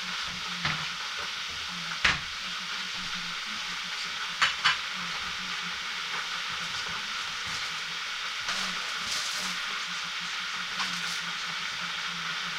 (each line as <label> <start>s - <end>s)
boiling a kettle 0.0s - 12.5s
radio 0.0s - 12.5s
cornflakes 6.5s - 11.9s